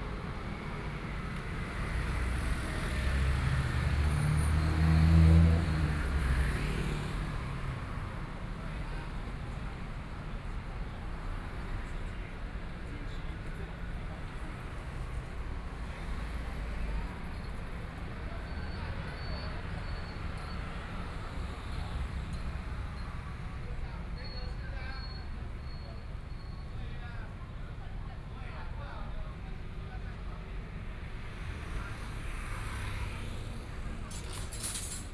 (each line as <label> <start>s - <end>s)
Traffic Sound 0.0s - 35.1s
Various shops voices 7.8s - 35.1s